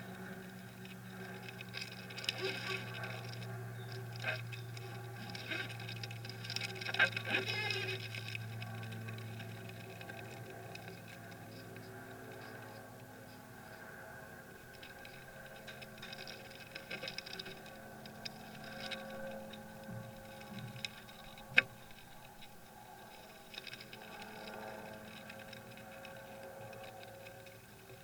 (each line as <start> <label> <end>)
0.0 Beetles coming and going to their nest in the woodwork 28.0